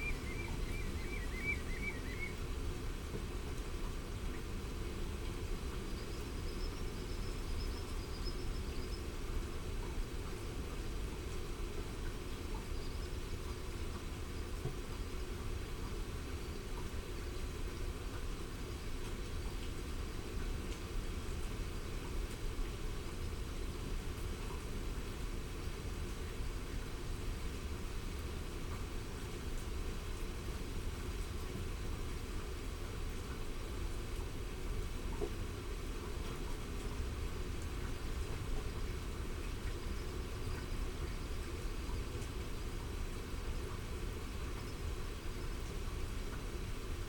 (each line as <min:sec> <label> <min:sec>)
0:00.0 curlew 0:02.4
0:00.0 grey heron 0:02.4
0:00.0 wet and windy 0:47.0